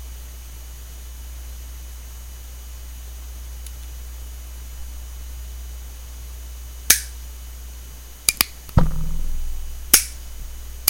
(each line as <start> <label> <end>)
8.3 Cocking 10.8
8.8 dry-firing 10.8